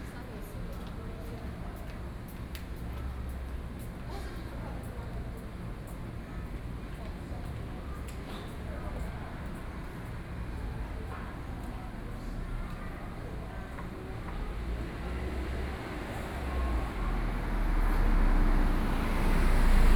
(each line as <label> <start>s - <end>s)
Traffic Sound 13.8s - 19.9s